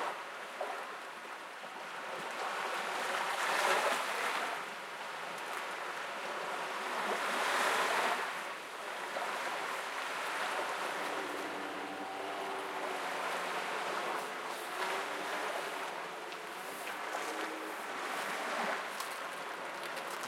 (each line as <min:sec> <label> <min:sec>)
0:00.0 Calm waves 0:20.2
0:00.0 people walking along the shore 0:20.2